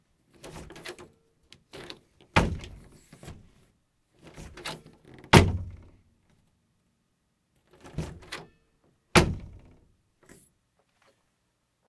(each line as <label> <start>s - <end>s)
Open Door 0.3s - 3.6s
Close Door 0.4s - 1.1s
Close Door 1.7s - 3.5s
Open Door 4.2s - 6.0s
Close Door 4.2s - 6.0s
Open Door 7.6s - 10.5s
Close Door 7.7s - 8.5s
Close Door 9.2s - 9.9s